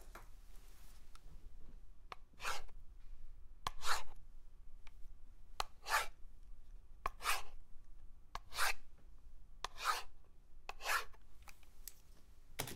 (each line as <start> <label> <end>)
8.5 Writing fast with a pen 8.7